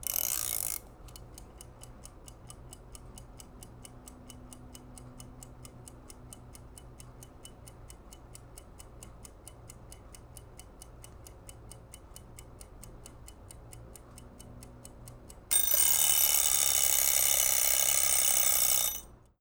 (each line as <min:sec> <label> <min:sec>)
0:00.0 cooking timer winding up 0:00.9
0:00.2 tick 0:15.5
0:15.5 ring 0:19.1
0:15.5 cooking timer winding up 0:19.2